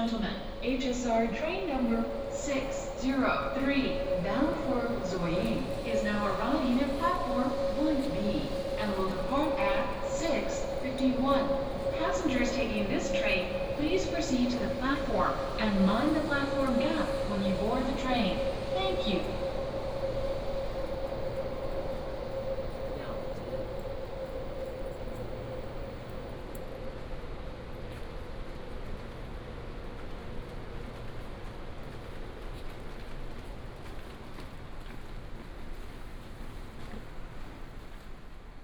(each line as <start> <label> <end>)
0.0 Station information broadcast 25.9